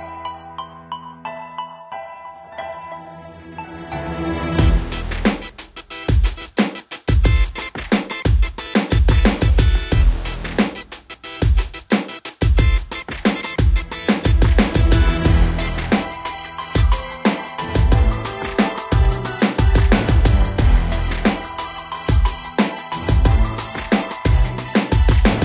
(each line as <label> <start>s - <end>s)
piano 0.0s - 6.2s
orchestral elements 2.4s - 5.6s
drums 4.6s - 25.4s
piano 13.4s - 25.4s
orchestral elements 13.8s - 25.4s